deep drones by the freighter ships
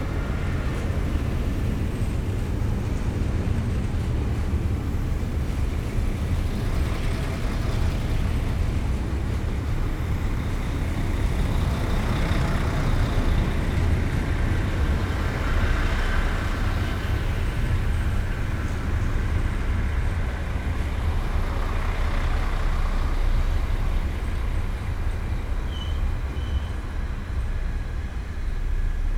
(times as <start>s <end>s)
9.2s 29.1s